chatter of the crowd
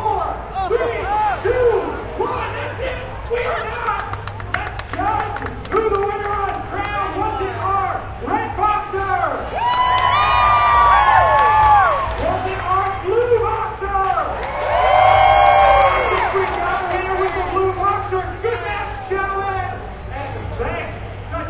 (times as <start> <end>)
15.5 21.4